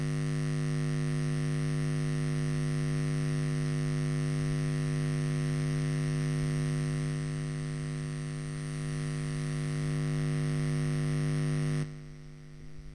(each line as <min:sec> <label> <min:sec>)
0:03.4 Electric buzz 0:12.2